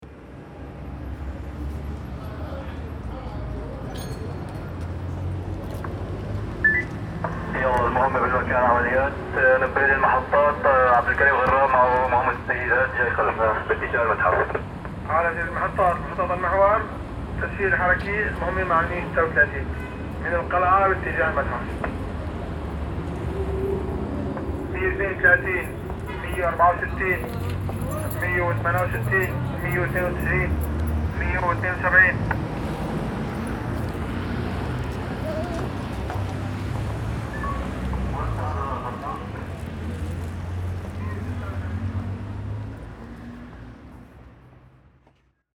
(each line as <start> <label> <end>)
6.6 Radio cops 19.6